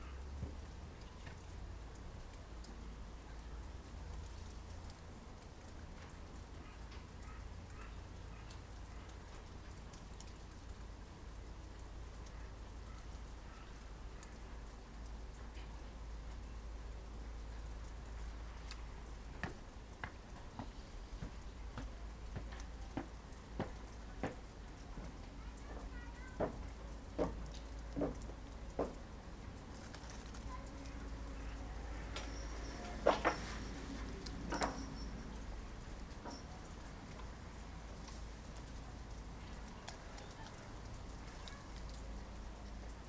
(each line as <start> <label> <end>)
0.0 melting snow 43.0
32.1 footsteps of the bell-ringer 35.5
32.2 Temple Bell 33.9
34.5 Temple Bell 35.3
36.2 footsteps of the bell-ringer 36.7